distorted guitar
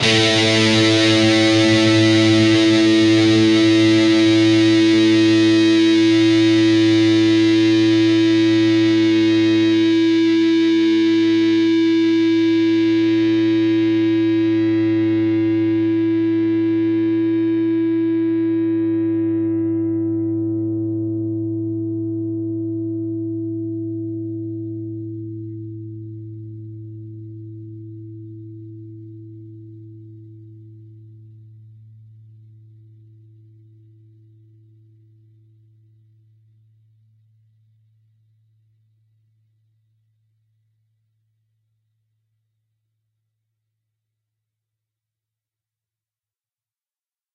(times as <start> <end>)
0.0 27.0